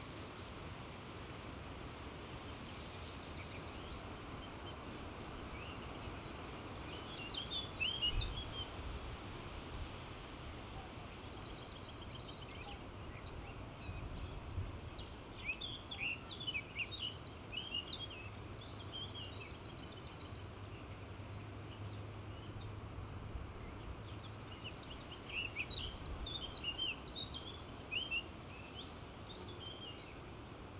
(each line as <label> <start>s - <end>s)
wind in trees 0.0s - 30.7s